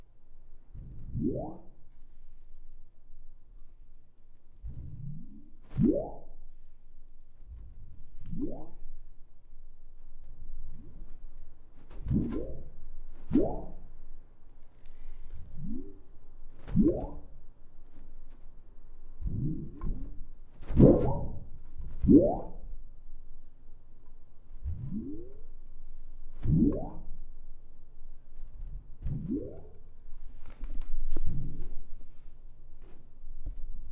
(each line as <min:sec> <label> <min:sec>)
0:00.0 Flexing a large (2 by 3 feet) piece of plastic 0:33.9